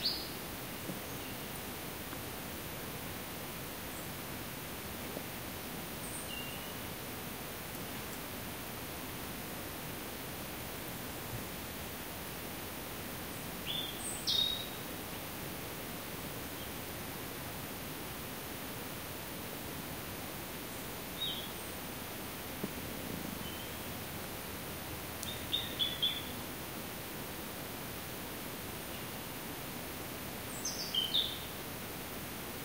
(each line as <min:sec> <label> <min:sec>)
0:00.0 wind 0:32.6
0:12.6 insect 0:32.6
0:25.2 bird 0:26.4